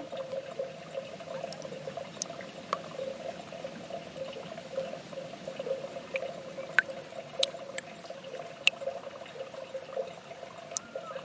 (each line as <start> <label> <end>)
0.0 Very Slow Dropping Water 11.2